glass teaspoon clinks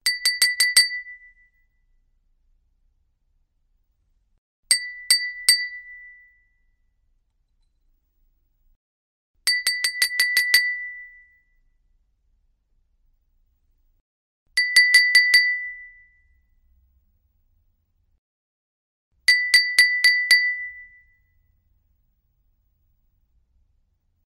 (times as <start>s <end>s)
0.1s 1.5s, 4.7s 6.3s, 9.5s 11.2s, 14.6s 16.1s, 19.3s 21.1s